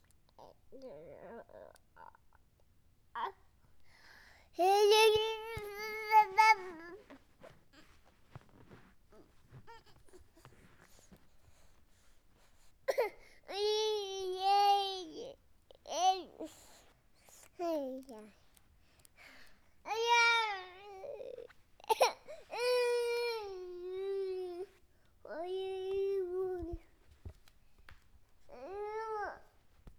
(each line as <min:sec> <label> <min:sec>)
0:04.6 Child Talk 0:07.0
0:17.6 Child Talk 0:18.4
0:25.3 Child Talk 0:26.8